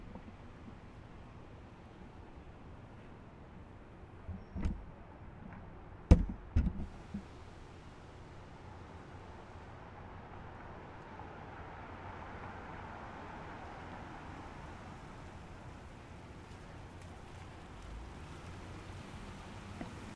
car drives up and stops 12.1 - 20.1

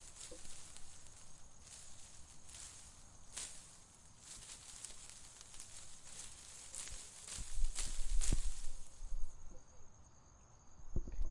Rustling Bushes 0.0 - 10.0

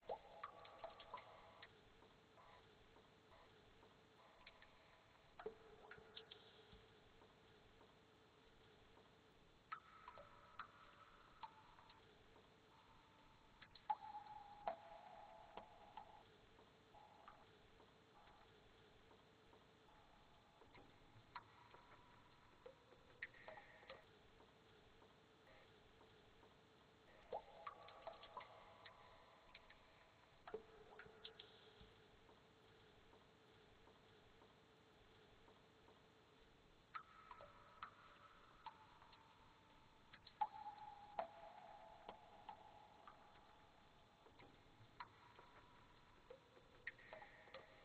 drip 0.0 - 47.8

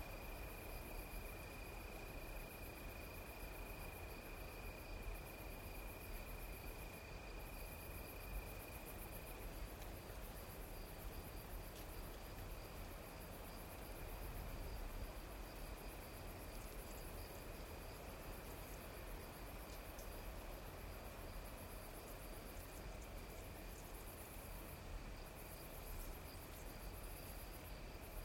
crickets 0.0 - 28.2
insects 0.0 - 28.2

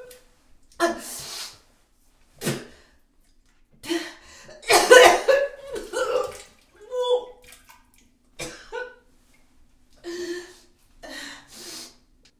Woman vomiting into toilet 2.4 - 2.8
Woman vomiting into toilet 3.9 - 7.8

